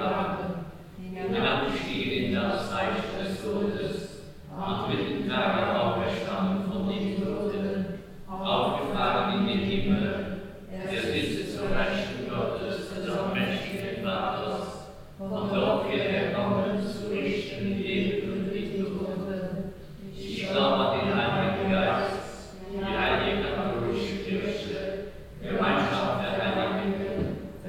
Vater unser Prayer 0:00.0 - 0:27.4

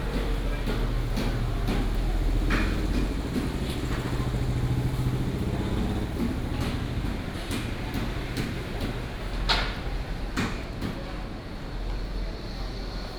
traffic sound 0:00.0 - 0:10.4

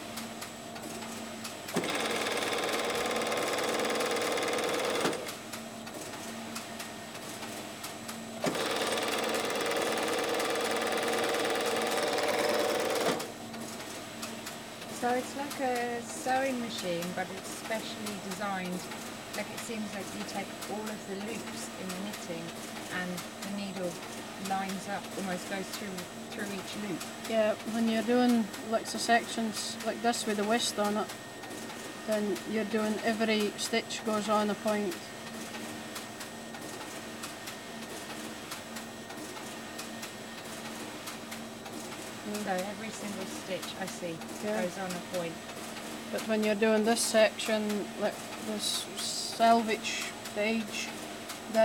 shima machine churns on 0:01.7 - 0:05.4
shima machine churns on 0:08.4 - 0:13.4

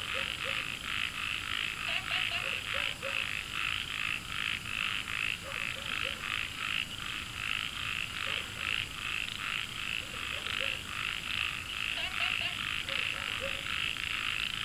Dogs barking 0:00.0 - 0:00.8
Frogs chirping 0:00.0 - 0:14.6
Dogs barking 0:02.0 - 0:03.4
Dogs barking 0:05.4 - 0:06.4
Dogs barking 0:08.2 - 0:08.8
Dogs barking 0:09.9 - 0:10.9
Dogs barking 0:12.0 - 0:13.8

